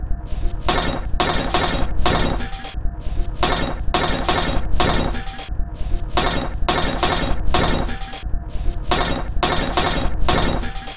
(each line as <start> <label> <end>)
3.4 Drum Loop 5.5
6.1 Drum Loop 8.2